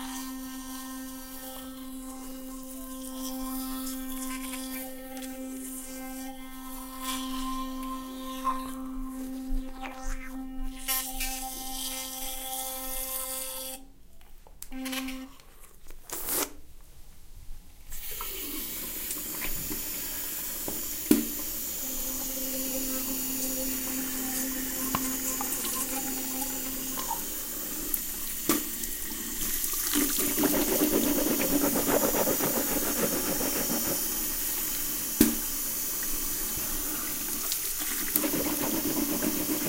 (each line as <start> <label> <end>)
0.0 brushing my teeth with a sonicare electric toothbrush 13.8
17.9 brushing my teeth with a sonicare electric toothbrush 39.6
17.9 rinsing and spitting 39.6